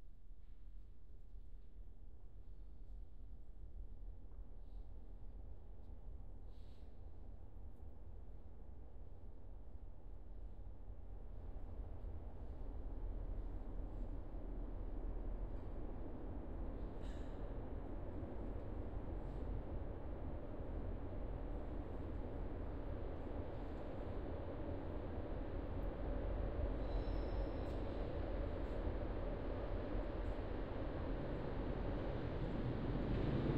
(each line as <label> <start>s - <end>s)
subway train going by from right to left 17.4s - 33.5s